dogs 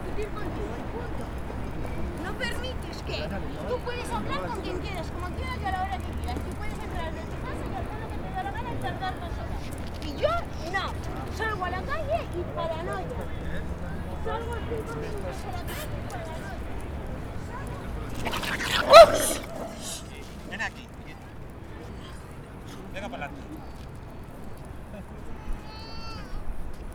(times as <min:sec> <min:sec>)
0:17.8 0:20.6